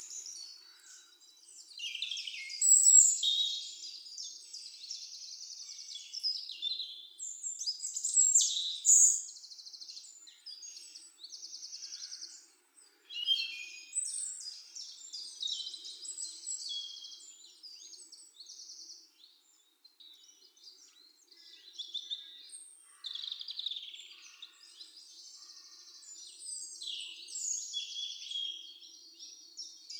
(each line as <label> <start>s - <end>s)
Various Birds 7.4s - 29.9s